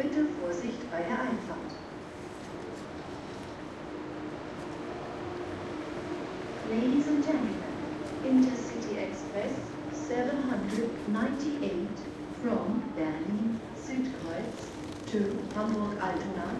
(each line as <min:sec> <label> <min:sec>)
0:00.0 Arriving and departing trains 0:16.5
0:06.4 announcements 0:16.5